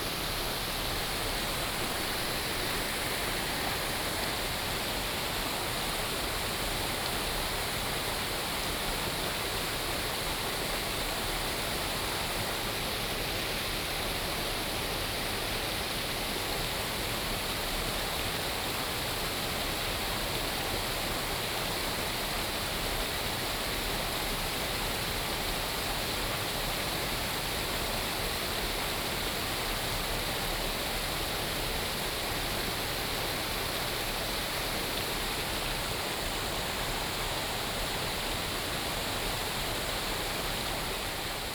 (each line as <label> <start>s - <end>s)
Stream sound 0.0s - 6.1s